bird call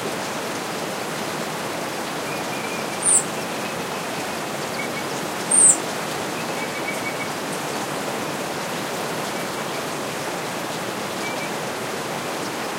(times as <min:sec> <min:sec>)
0:02.3 0:05.8